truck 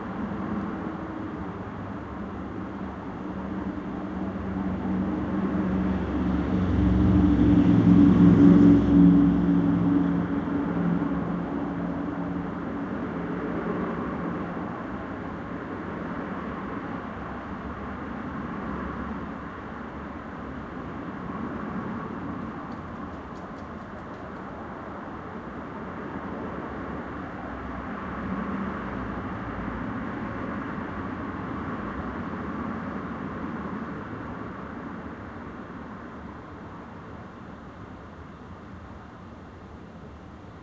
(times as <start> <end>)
0.0 24.4